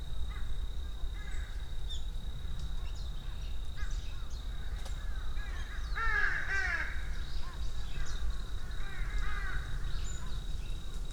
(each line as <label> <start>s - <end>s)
activity of many smaller forest birds 0.1s - 11.1s
mountain crows...their caws echo among the forest 1.2s - 1.6s
mountain crows...their caws echo among the forest 3.8s - 10.4s